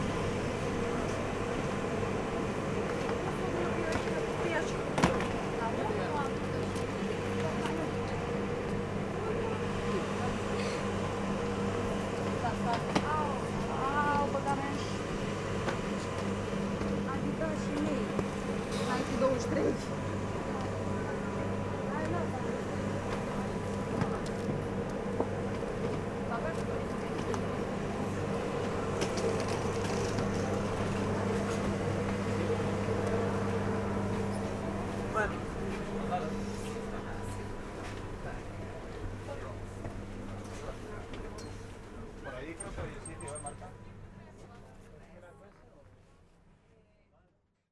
0.0s train 45.8s

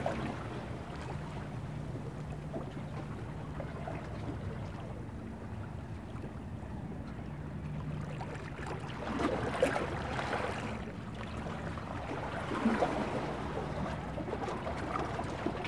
0.0s sea sounds 15.6s

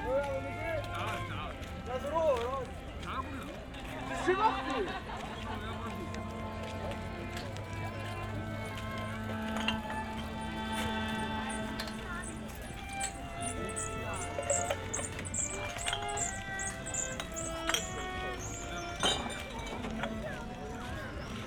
0.0s musicians 21.4s
0.0s people leaving the park 21.4s

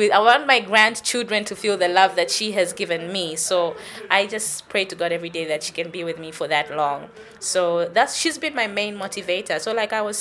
0.0s popular DJ 10.2s

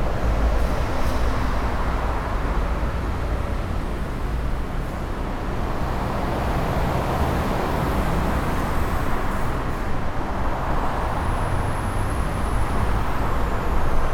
0.0s dense, slow traffic 14.1s
0.0s traffic driving fast on the upper track 14.1s

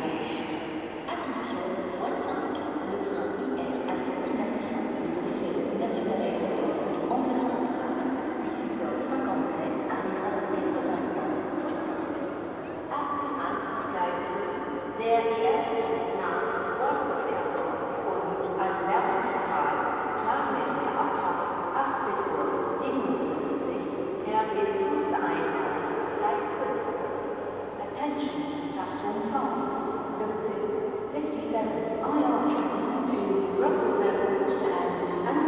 0.0s Announcements melting in the main station 35.4s

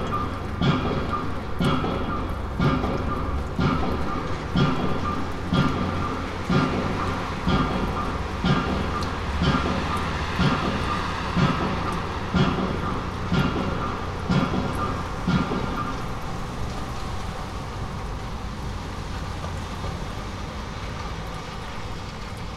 0.0s huge machine that seems to act like a tremendous hammer is banging 18.3s

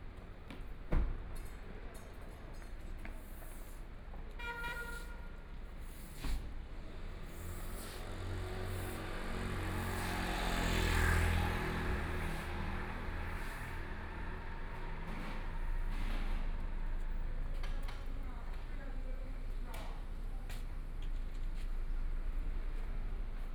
0.0s Traffic Sound 23.5s
5.8s Walking through the old neighborhoods 23.5s

